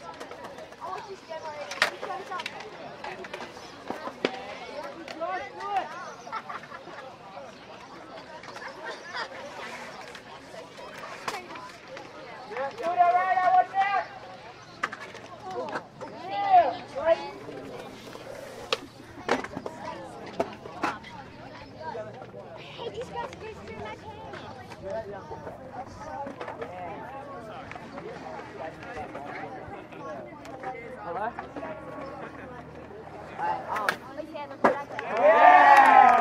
0.0s teenage conversations 36.2s
0.2s birds 26.7s
7.8s skate sounds 14.0s
14.8s skate sounds 21.3s
35.0s applaud and cheering after landing tricks 36.2s

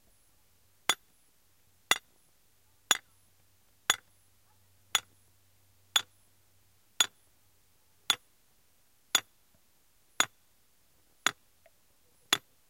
0.9s Pounding a metal stake with a sledge hammer 1.1s
1.9s Pounding a metal stake with a sledge hammer 2.1s
2.9s Pounding a metal stake with a sledge hammer 3.1s
3.9s Pounding a metal stake with a sledge hammer 4.1s
4.9s Pounding a metal stake with a sledge hammer 5.1s
7.0s Pounding a metal stake with a sledge hammer 7.2s
8.1s Pounding a metal stake with a sledge hammer 8.3s
9.1s Pounding a metal stake with a sledge hammer 9.3s

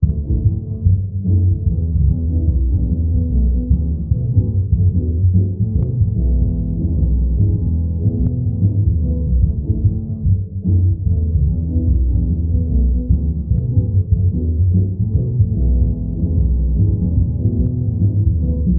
0.0s music 18.7s

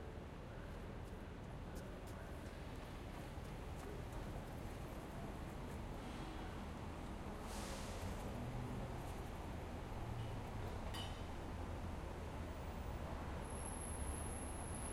0.0s Buses 14.9s
0.0s Light traffic 14.9s

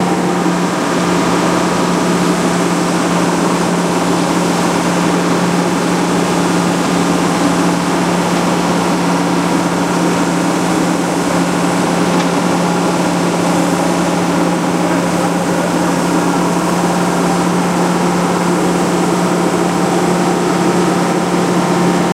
0.0s excavator 22.1s

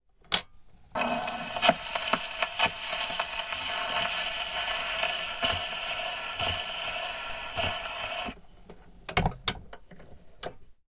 0.6s crackle-noise and other surface sounds of the vinyl 10.8s
1.0s vinyl record player stopping 8.4s

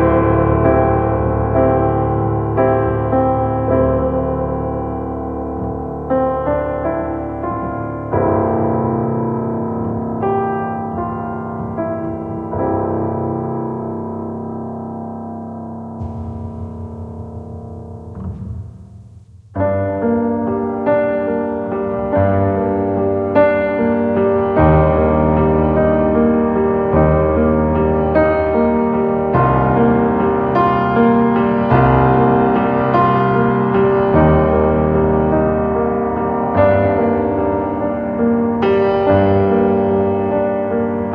0.0s classical piano 41.1s

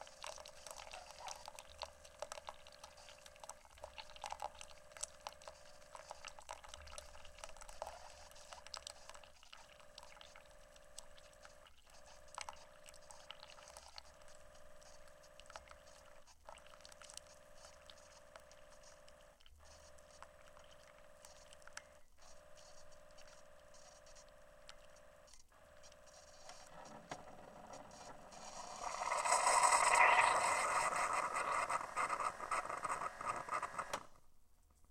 0.0s individual cup-based coffee maker 34.3s

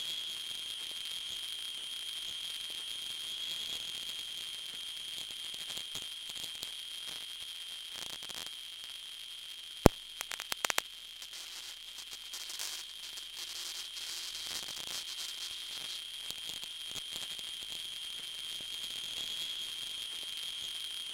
10.2s radio static 11.8s

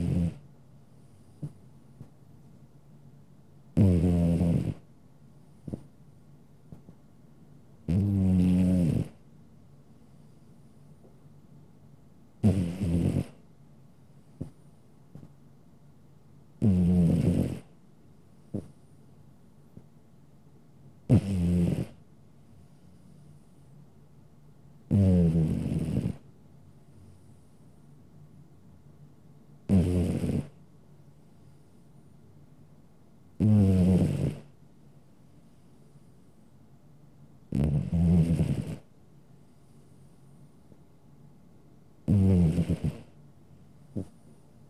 0.0s elderly cat snoring 0.4s
3.8s elderly cat snoring 4.9s
7.9s elderly cat snoring 9.2s
12.4s elderly cat snoring 13.4s
16.6s elderly cat snoring 17.7s
18.5s elderly cat snoring 18.8s
21.1s elderly cat snoring 22.0s
24.9s elderly cat snoring 26.2s
29.7s elderly cat snoring 30.6s
33.4s elderly cat snoring 34.5s
37.5s elderly cat snoring 38.9s
42.0s elderly cat snoring 43.2s

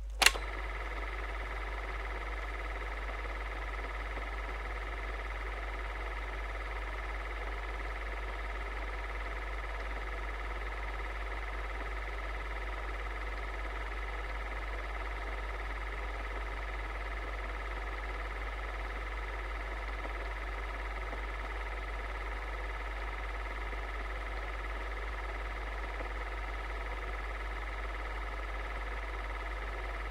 0.0s projector 30.1s

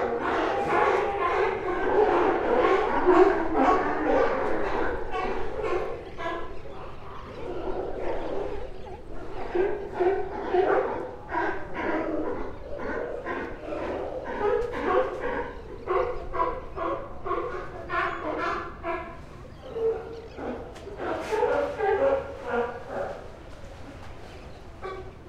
0.0s California Sea Lions 25.2s

